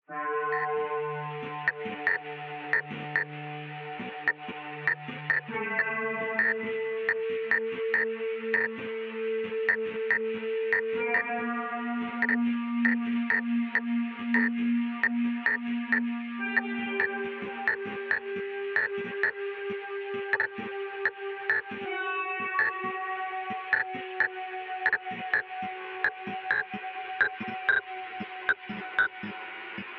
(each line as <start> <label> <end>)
1.6 Stuttering hypnotic tech glitching sounds 3.4
4.0 Stuttering hypnotic tech glitching sounds 6.6
7.5 Stuttering hypnotic tech glitching sounds 8.8
12.0 Stuttering hypnotic tech glitching sounds 19.4
20.4 Stuttering hypnotic tech glitching sounds 20.7
21.5 Stuttering hypnotic tech glitching sounds 22.9
23.6 Stuttering hypnotic tech glitching sounds 29.9